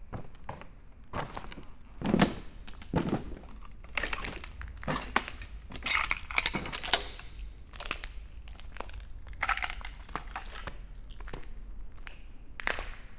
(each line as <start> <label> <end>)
0.0 walking in the abandoned factory, on broken glass 13.1